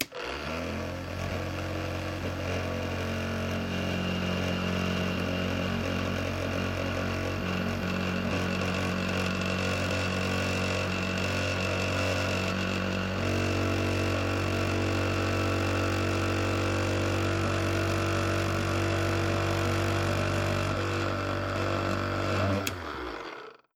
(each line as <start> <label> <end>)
0.0 electric milk frother starting, running and stopping 23.7